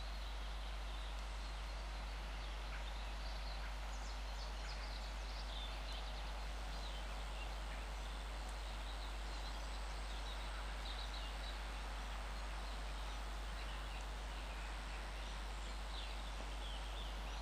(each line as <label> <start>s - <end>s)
birds singing 0.0s - 17.4s
low hum is from the electricity pylons 0.0s - 17.4s